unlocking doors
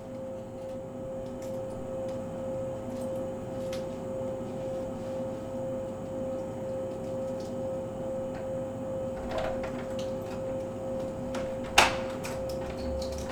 9.2s 13.3s

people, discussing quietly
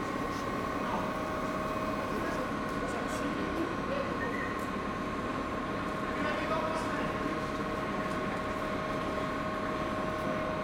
0.3s 5.1s

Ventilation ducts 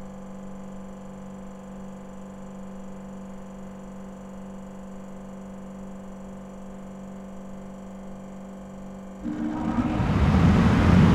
9.2s 11.1s

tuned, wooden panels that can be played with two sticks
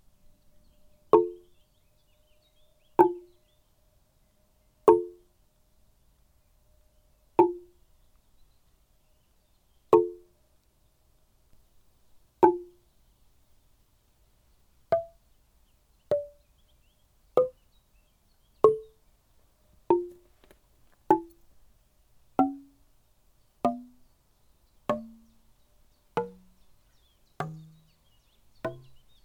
1.1s 1.6s, 2.9s 3.5s, 4.8s 5.4s, 7.4s 7.8s, 9.9s 10.4s, 12.4s 12.9s, 14.9s 15.3s, 16.1s 16.5s, 17.3s 17.7s, 18.6s 19.0s, 19.8s 21.5s, 22.3s 22.9s, 23.6s 24.1s, 24.8s 25.5s, 26.1s 29.2s

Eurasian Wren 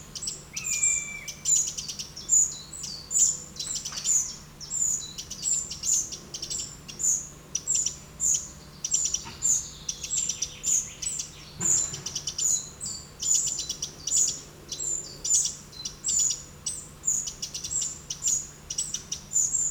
0.2s 11.2s

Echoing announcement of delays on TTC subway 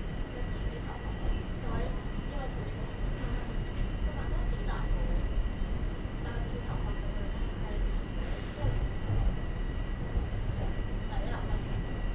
0.0s 9.3s

